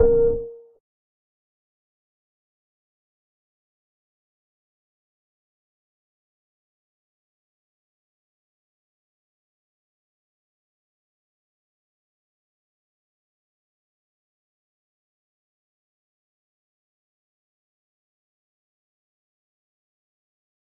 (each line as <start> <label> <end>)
0.0 notification 0.7